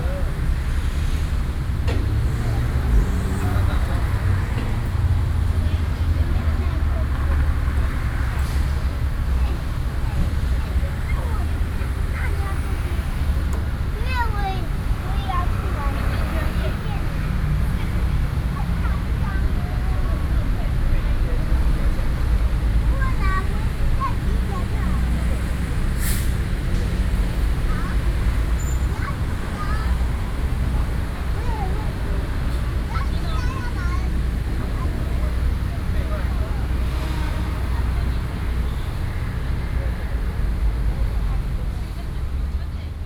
9.3s Mother and child 20.8s
22.2s Mother and child 38.5s

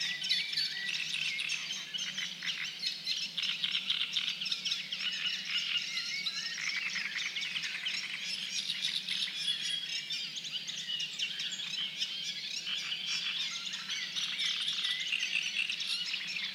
0.0s Frogs 16.5s

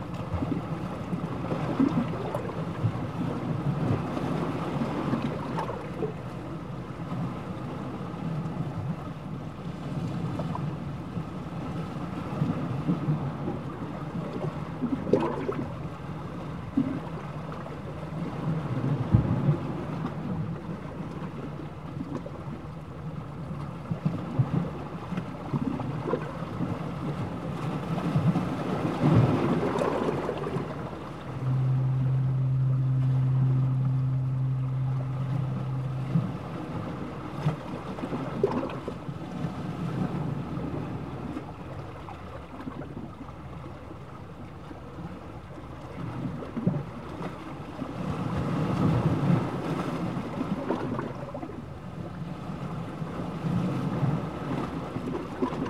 0.0s Sea bubbles 9.2s
0.0s sound of the sea and waves 55.6s
11.9s Sea bubbles 43.3s
28.0s fog horn sounding at intervals 41.6s
48.8s Sea bubbles 52.2s
53.4s Sea bubbles 55.6s

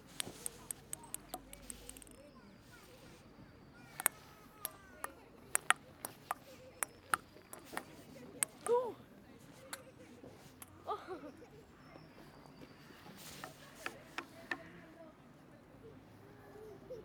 0.0s ping pong in the park 16.0s

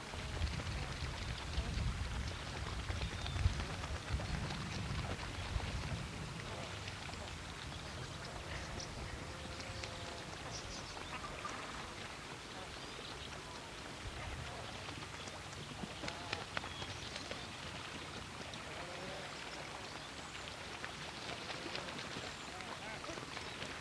0.2s winds pick up gusts through the grasses 9.3s

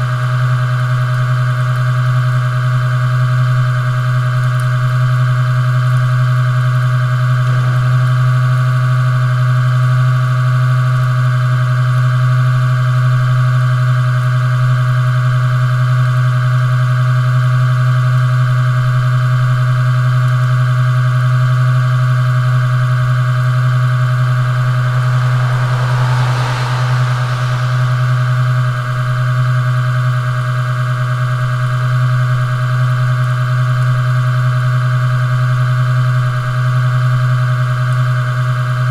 24.3s Traffic passing by 29.2s

